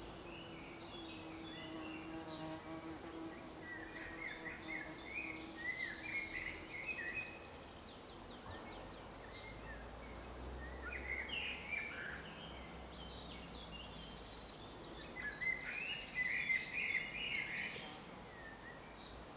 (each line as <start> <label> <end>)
0.0 Birds singing 19.3